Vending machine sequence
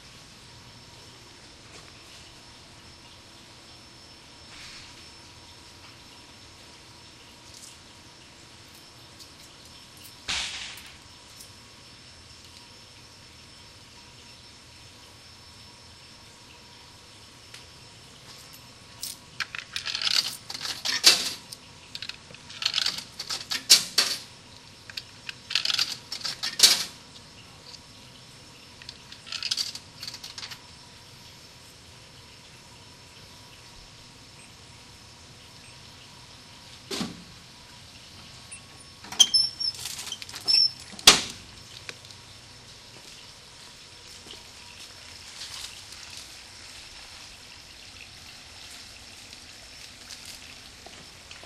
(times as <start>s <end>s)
18.5s 30.8s, 38.2s 41.8s